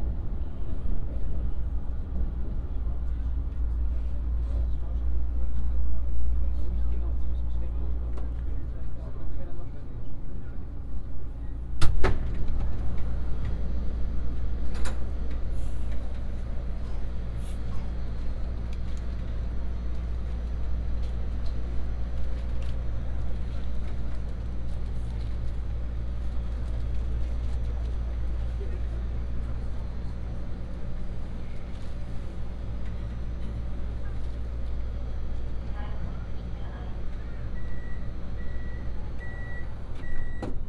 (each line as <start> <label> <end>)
0.0 Metro ride 40.6